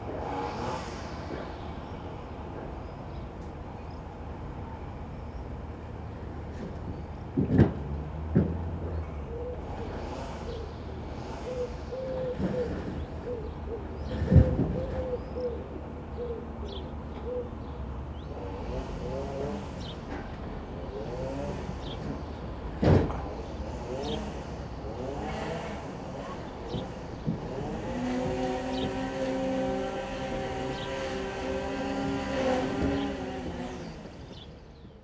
strimmer at work 0:18.3 - 0:35.0

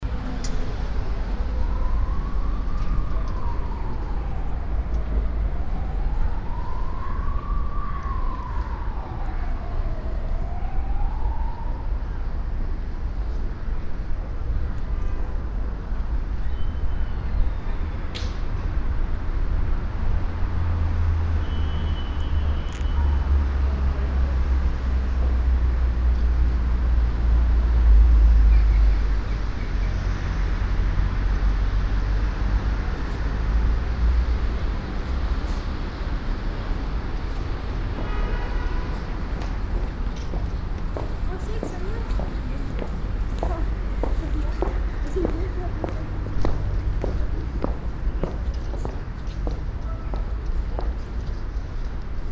passing by traffic 0:00.0 - 0:52.3
steps on the stairway 0:39.3 - 0:51.0

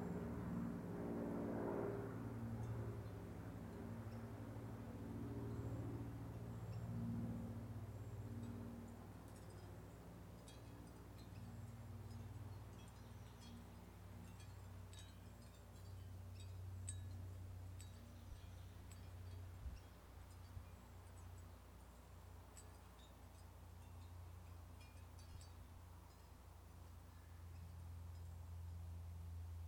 World War Two-era prop airplanes 0:00.0 - 0:24.0
Distant leaf blowers 0:00.0 - 0:29.6
Oystershell windchimes 0:08.0 - 0:28.5

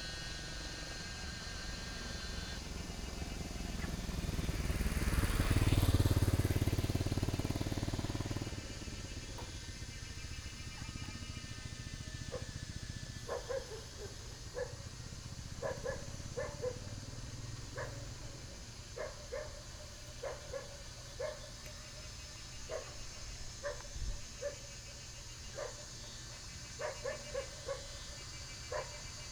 Cicadas sound 0:00.0 - 0:29.3
Dogs barking 0:12.2 - 0:22.0
Dogs barking 0:22.6 - 0:29.3

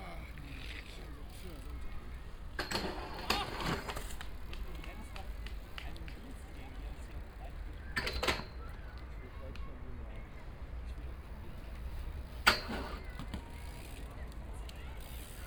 BMX bikers jumping up and down on a metal railing 0:02.4 - 0:05.6
BMX bikers jumping up and down on a metal railing 0:07.9 - 0:08.6
BMX bikers jumping up and down on a metal railing 0:11.8 - 0:14.1

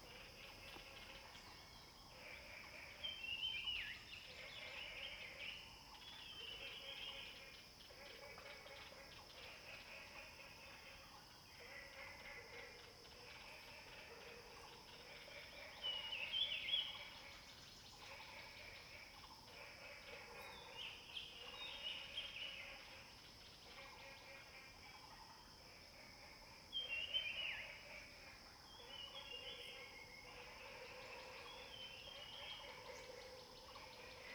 Frogs chirping 0:14.6 - 0:34.3

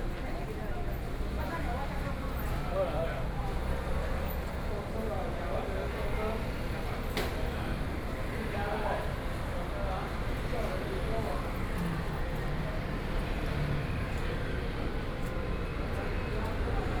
Train travel from station 0:09.0 - 0:17.0

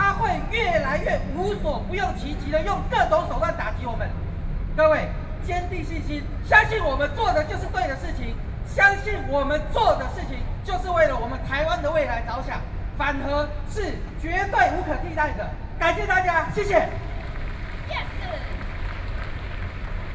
speech 0:00.0 - 0:04.2
speech 0:04.8 - 0:17.0
speech 0:17.9 - 0:18.6

